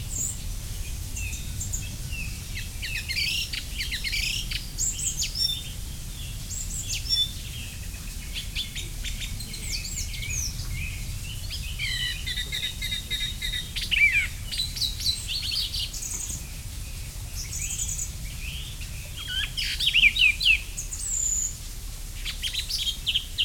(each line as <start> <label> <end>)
0.0 sounds from the nearby village 23.4
1.2 blackbirds talking between them 21.5